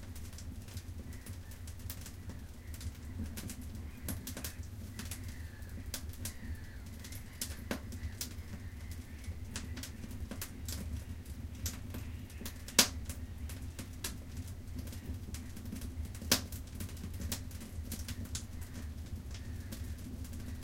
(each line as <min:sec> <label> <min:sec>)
0:00.0 firewood 0:20.6
0:01.0 seagulls 0:11.2